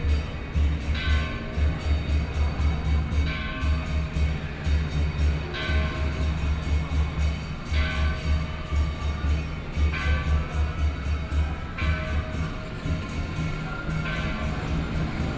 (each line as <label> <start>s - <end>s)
walking on the Road 0.0s - 15.3s